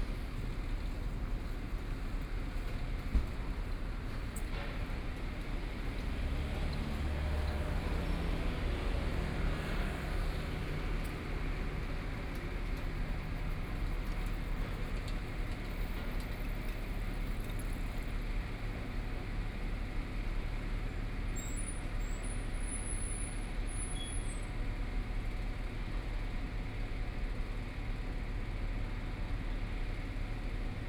3.1s Traffic Sound 18.9s

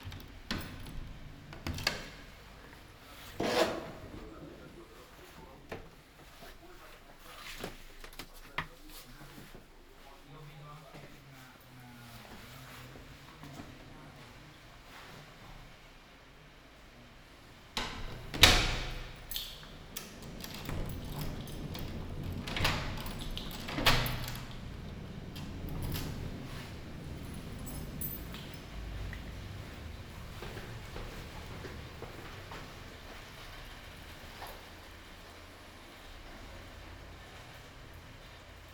17.5s Walking to mailbox to post postcard 35.2s

